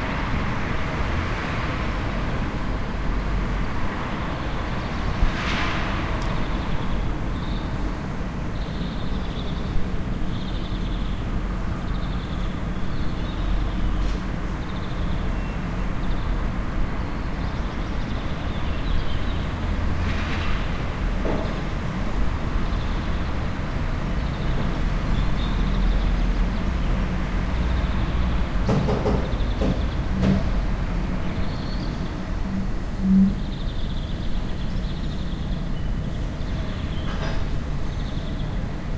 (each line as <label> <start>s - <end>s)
cars 0.0s - 38.9s
birds 22.3s - 38.9s